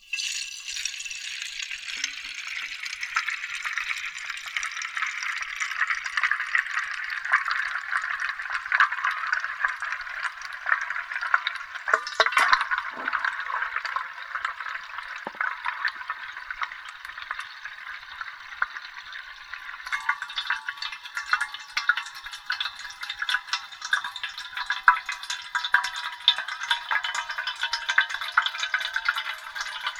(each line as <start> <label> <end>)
0.0 Water slowly filling a giant thermos 29.9